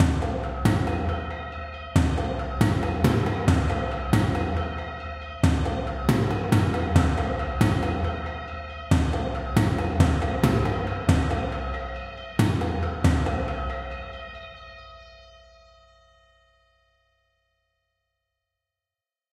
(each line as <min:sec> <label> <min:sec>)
0:00.0 Big rythmic toms with bell-like resonances 0:14.2